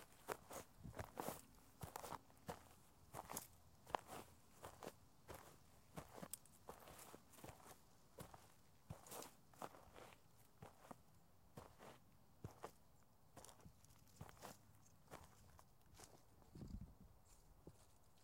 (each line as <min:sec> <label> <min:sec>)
0:00.0 Footdrags Dirt 0:11.0
0:13.4 Footdrags Dirt 0:16.3